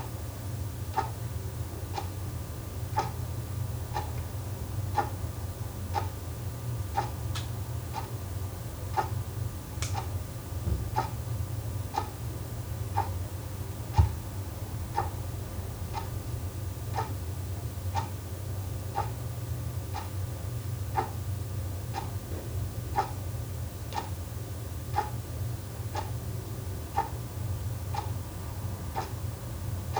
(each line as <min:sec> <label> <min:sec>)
0:00.9 clock ticking 0:01.2
0:02.9 clock ticking 0:03.2
0:03.9 clock ticking 0:04.2
0:04.9 clock ticking 0:05.1
0:05.9 clock ticking 0:06.1
0:07.0 clock ticking 0:07.2
0:08.9 clock ticking 0:09.2
0:11.9 clock ticking 0:12.1
0:13.0 clock ticking 0:13.2
0:14.9 clock ticking 0:15.2
0:15.9 clock ticking 0:16.2
0:16.9 clock ticking 0:17.2
0:18.9 clock ticking 0:19.2
0:19.9 clock ticking 0:20.1
0:20.9 clock ticking 0:21.2
0:21.9 clock ticking 0:22.2
0:22.9 clock ticking 0:23.2
0:23.9 clock ticking 0:24.2
0:24.9 clock ticking 0:25.2
0:25.9 clock ticking 0:26.2
0:26.9 clock ticking 0:27.2
0:27.9 clock ticking 0:28.2
0:28.9 clock ticking 0:29.2